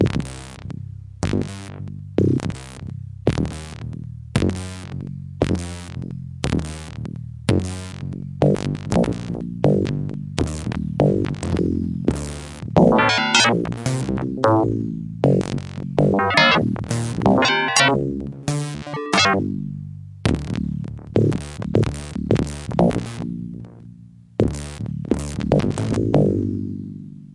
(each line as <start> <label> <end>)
12.8 keyboard with built-in FM-synthesizer 14.9
16.1 keyboard with built-in FM-synthesizer 19.7